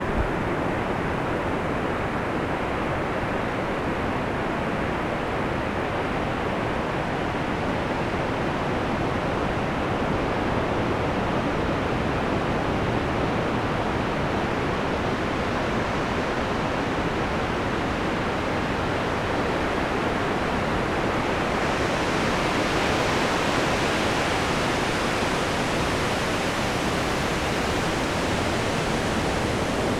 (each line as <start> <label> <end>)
18.4 wave sounds 29.9